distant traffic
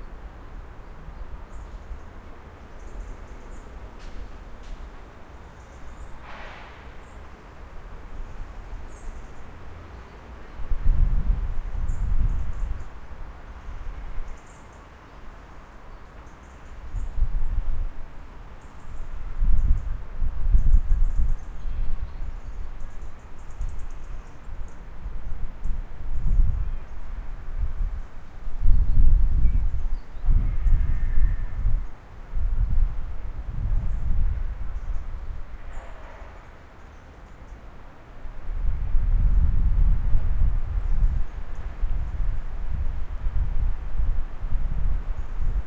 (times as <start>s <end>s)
0.0s 10.6s, 34.4s 38.6s